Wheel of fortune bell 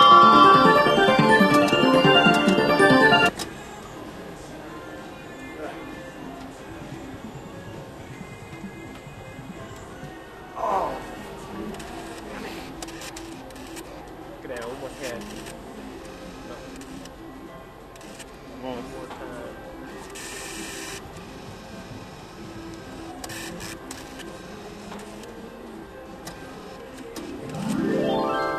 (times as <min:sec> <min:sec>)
0:00.0 0:03.3